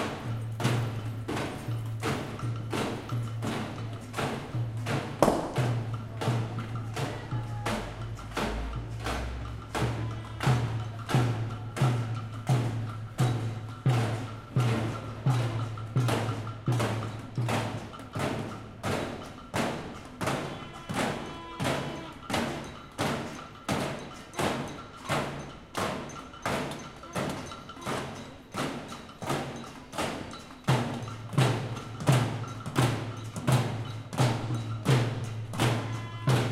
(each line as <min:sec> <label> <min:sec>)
0:00.0 Street protest 0:36.5
0:00.0 batucada 0:36.5